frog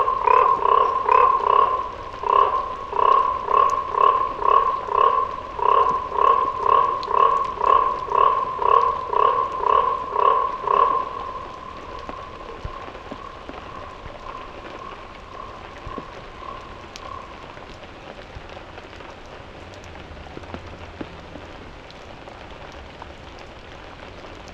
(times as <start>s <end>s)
0.0s 17.9s